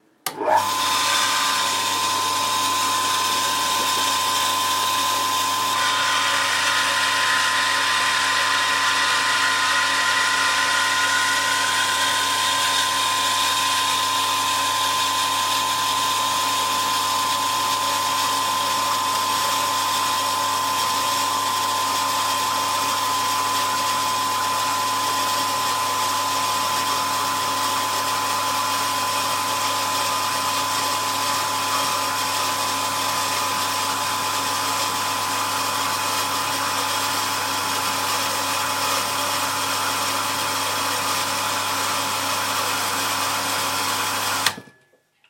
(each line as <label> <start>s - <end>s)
Hydro Pump 0.3s - 12.0s